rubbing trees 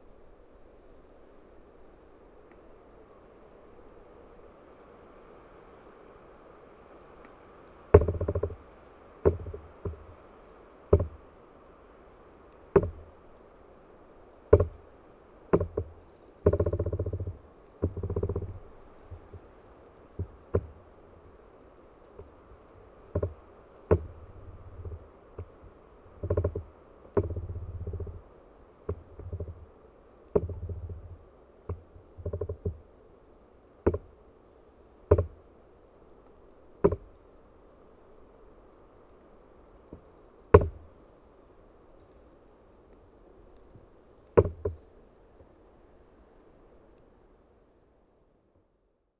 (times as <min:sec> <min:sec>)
0:05.1 0:37.4, 0:38.0 0:41.2, 0:43.0 0:45.4